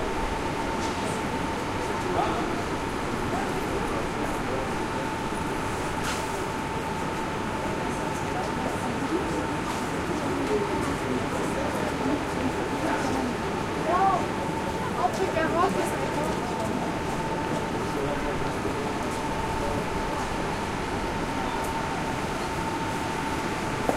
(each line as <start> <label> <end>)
0.0 trains arrive and depart 23.9